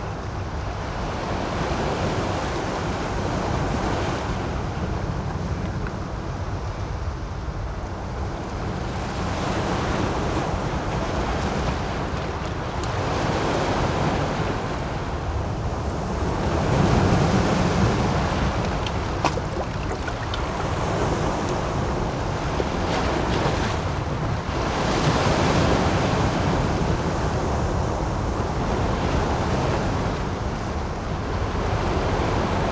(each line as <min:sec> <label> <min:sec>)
0:08.2 waves 0:32.7